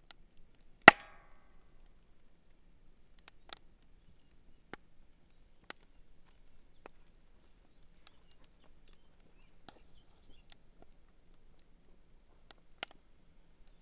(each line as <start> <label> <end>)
0.0 camp fire 13.8
0.8 log is added to the fire 1.4